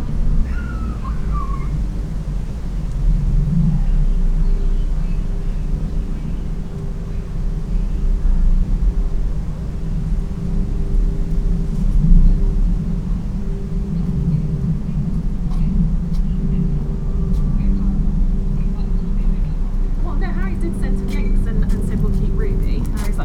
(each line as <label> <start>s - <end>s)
A plane flies over 0.0s - 23.2s
windy 0.0s - 23.2s
Her baby cries 0.4s - 1.9s
mother sits talking on the phone 17.4s - 23.2s